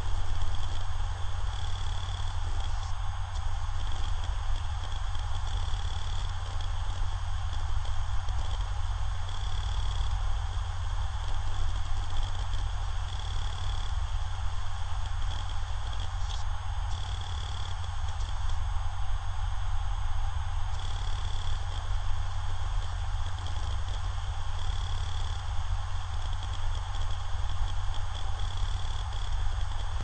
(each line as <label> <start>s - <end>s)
HDD Random read and write 0.0s - 10.2s
HDD Random read and write 11.1s - 14.0s
HDD Random read and write 14.8s - 18.6s
HDD Random read and write 20.7s - 30.0s